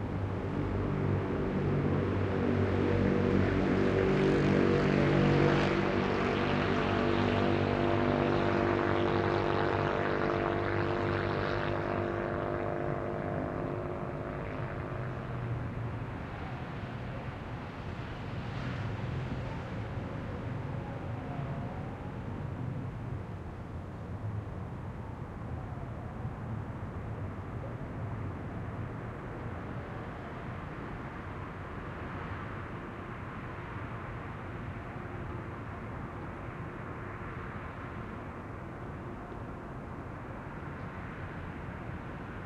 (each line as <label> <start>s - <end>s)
motorcycle 0.0s - 23.1s
bus 0.0s - 42.4s
traffic 0.0s - 42.4s